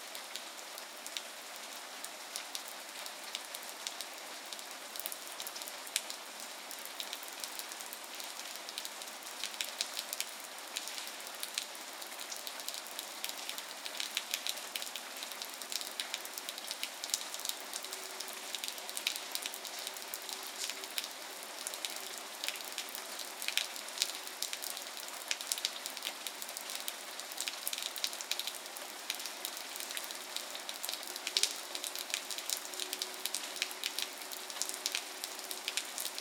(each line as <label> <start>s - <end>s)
rain falling 0.0s - 36.2s